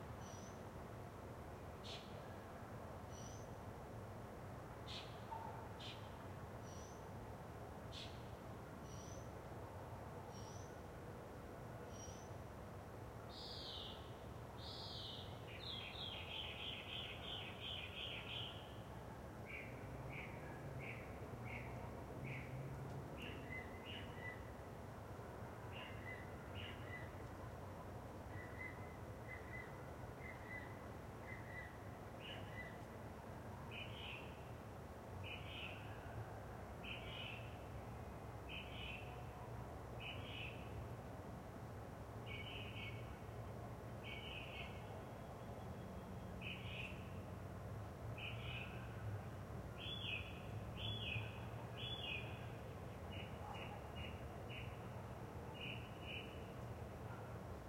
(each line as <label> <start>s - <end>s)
Cars pass by 15.3s - 29.2s